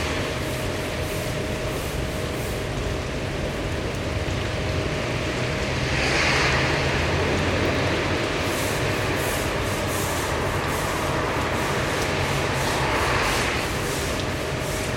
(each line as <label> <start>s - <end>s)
rain 0.0s - 14.9s
cars 4.3s - 14.9s